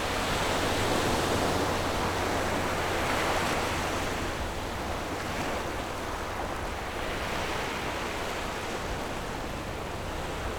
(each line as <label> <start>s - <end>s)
waves 0.0s - 10.5s